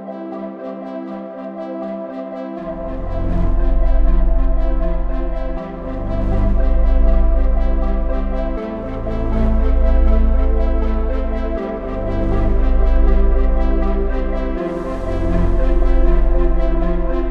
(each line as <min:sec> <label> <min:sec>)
0:00.0 synth 0:17.3